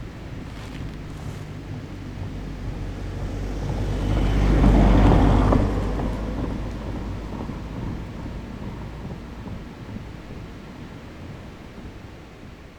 wind blowing through the trees 0:00.0 - 0:03.2
hikers 0:00.2 - 0:02.0
car passing by 0:00.3 - 0:10.1

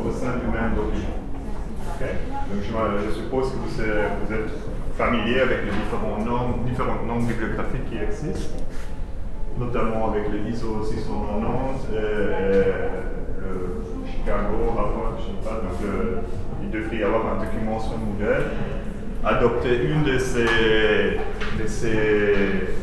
course of legal matters 0:00.0 - 0:22.8

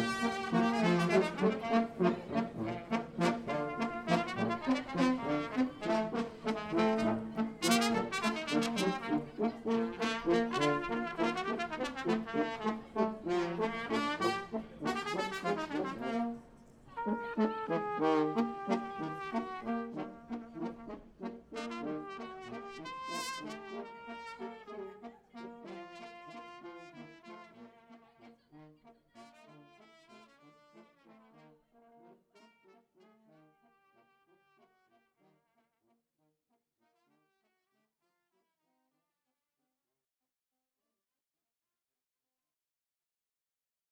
musicians from South of Romania playing brass 0:00.0 - 0:35.2

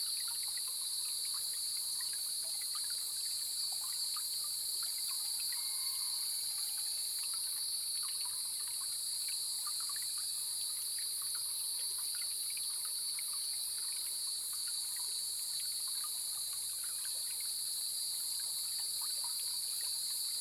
Cicadas cry 0:00.0 - 0:10.4
Stream 0:00.0 - 0:20.4

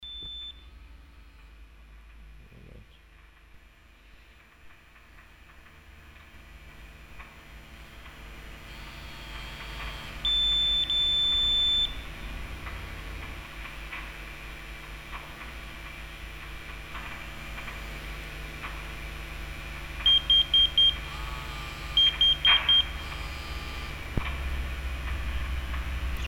signals and alarm sounds 0:00.0 - 0:01.5
signals and alarm sounds 0:07.8 - 0:12.3
vibrating mobile messenger that receives an alarm message 0:08.6 - 0:12.1
signals and alarm sounds 0:20.0 - 0:24.2
vibrating mobile messenger that receives an alarm message 0:20.0 - 0:24.1

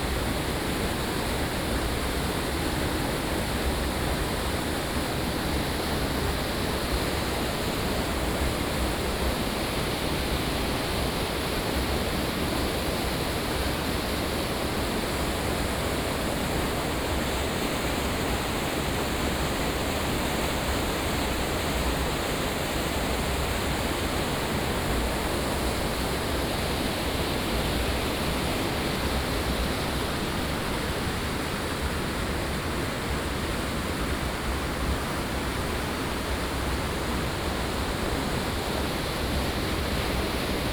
stream 0:00.0 - 0:40.7

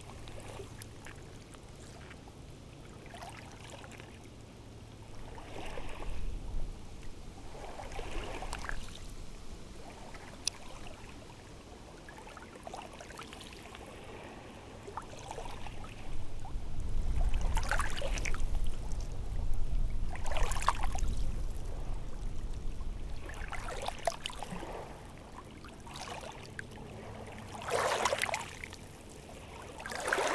High tide rippling stones 0:17.1 - 0:30.3

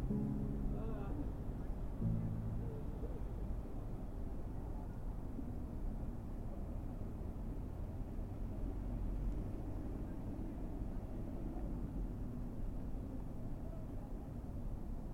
playing the guitar 0:00.0 - 0:03.5

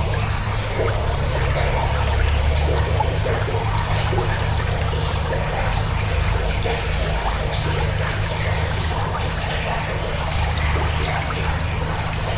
river in a tunnel below the street 0:00.0 - 0:12.3

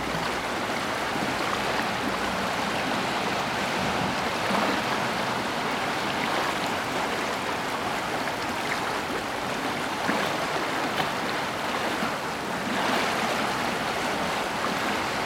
Warche river 0:00.0 - 0:15.2

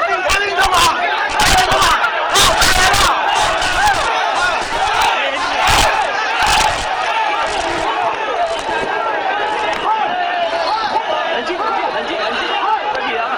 protesting students confrontation 0:00.0 - 0:13.3

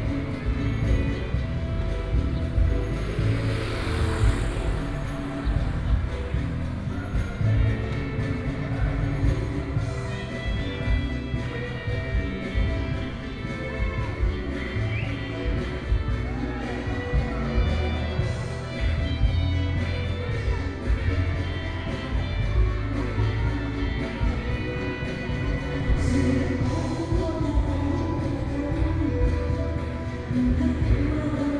Karaoke 0:00.0 - 0:31.5
traffic sound 0:00.0 - 0:31.5

